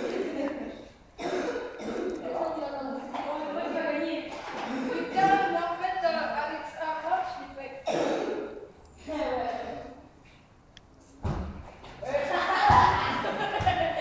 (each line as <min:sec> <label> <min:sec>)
0:11.2 children play football in a huge hall with loud reverb 0:14.0